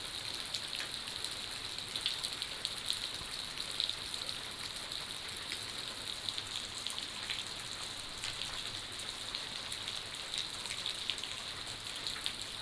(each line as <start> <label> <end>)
0.0 Rain 12.6